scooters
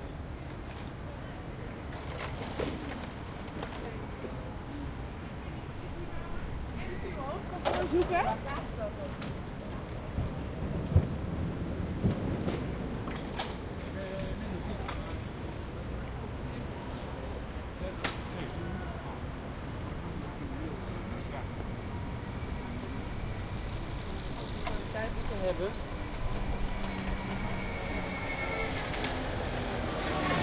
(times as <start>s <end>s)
1.8s 4.0s, 22.8s 30.4s